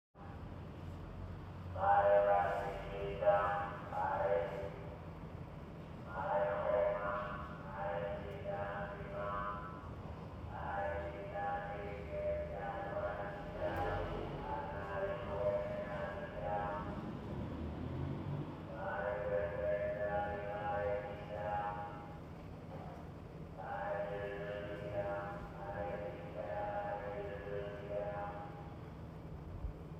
Street Vegetables Vendor with Megaphone 0:01.8 - 0:05.0
Street Vegetables Vendor with Megaphone 0:06.1 - 0:17.1
Street Vegetables Vendor with Megaphone 0:18.7 - 0:22.2
Street Vegetables Vendor with Megaphone 0:23.6 - 0:28.7

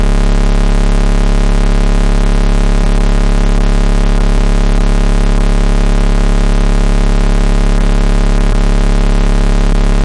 buzzing type audio noise 0:00.0 - 0:10.0

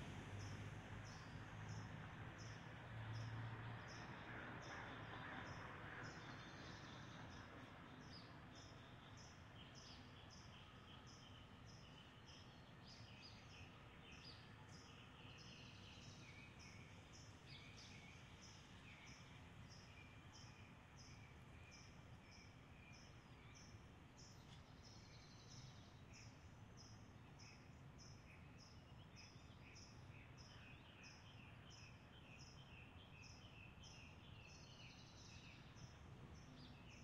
cars driving by, splashing thru a puddle 0:00.0 - 0:06.2

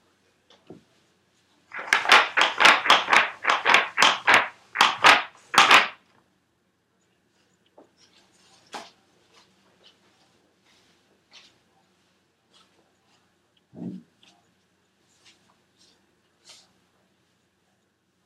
Racking of the pool balls 0:01.7 - 0:06.0
shooting the balls into the pockets 0:01.8 - 0:06.0

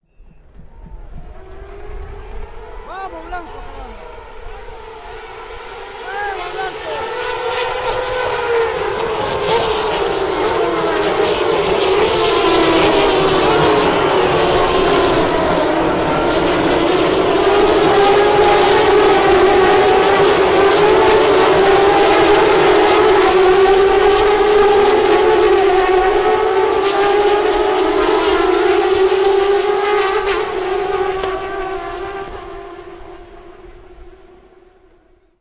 Race start 0:00.2 - 0:34.3
a guy shouts 0:02.8 - 0:04.0
a guy shouts 0:06.0 - 0:07.1

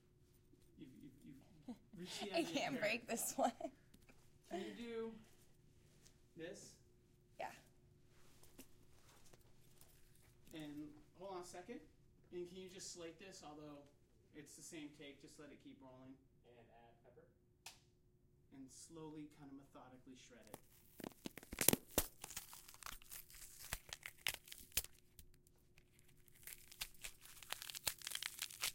instructor's voice 0:01.4 - 0:03.6

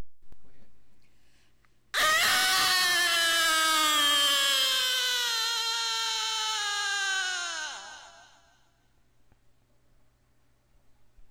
base moan of a woman with echo 0:02.0 - 0:08.6

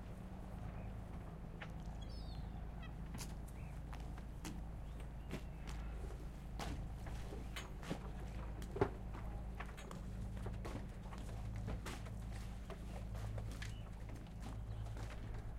boat 0:00.0 - 0:15.5

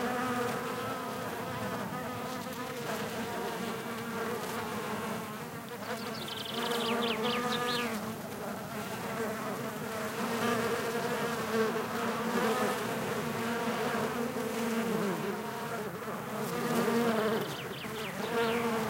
Buzzing bees on a Rosemary shrub 0:00.0 - 0:18.8
birds singing 0:05.8 - 0:08.0
birds singing 0:17.1 - 0:18.8

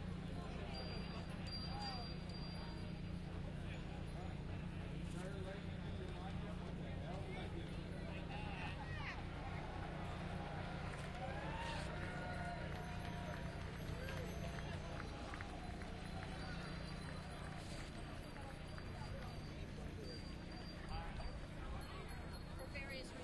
cowbells 0:00.0 - 0:09.1
crowd cheer 0:08.2 - 0:20.1
crowd applauding 0:08.6 - 0:20.8
cowbells 0:09.8 - 0:23.2

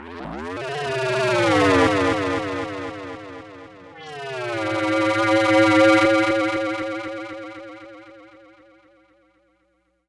Sweeps 0:03.9 - 0:08.7

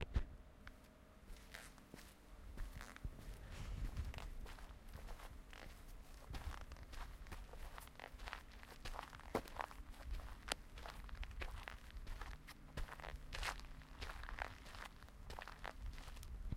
footsteps 0:01.3 - 0:16.5

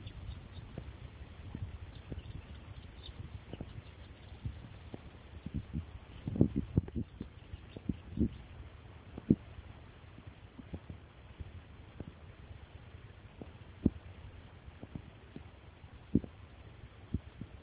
bird 0:00.0 - 0:00.9
bird 0:01.5 - 0:08.6

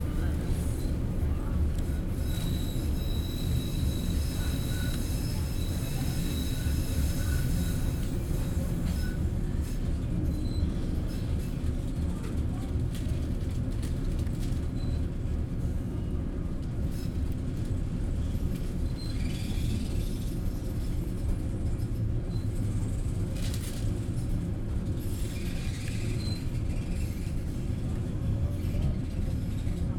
metro ride through a small tunnel 0:00.0 - 0:29.9

